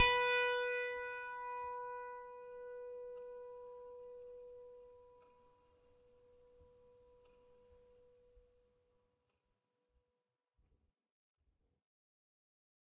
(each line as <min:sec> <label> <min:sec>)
0:00.0 piano strings played with a finger 0:05.2